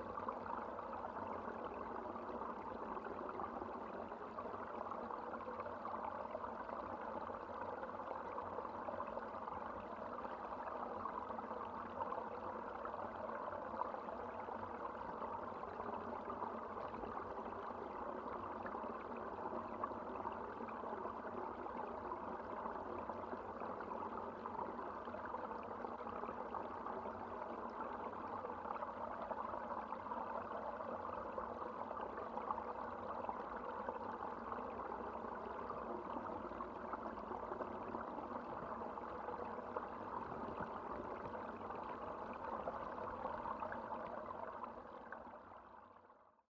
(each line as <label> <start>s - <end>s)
Water resonating in the pond's outlet pipe 0.0s - 46.2s